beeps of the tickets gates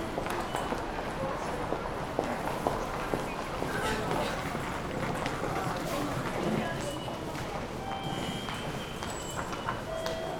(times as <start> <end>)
7.8 10.3